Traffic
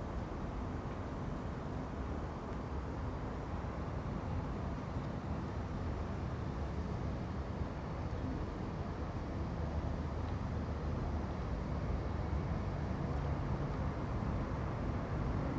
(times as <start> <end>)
8.1 15.5